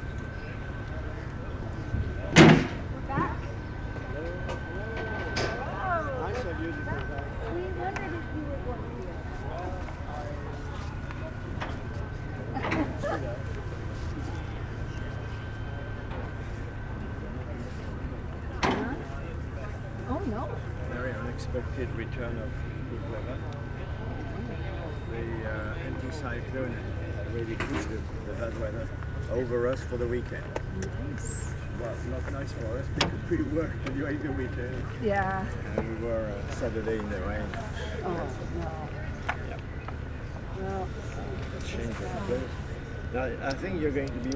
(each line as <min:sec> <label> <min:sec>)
0:00.0 Tourist going out 0:44.3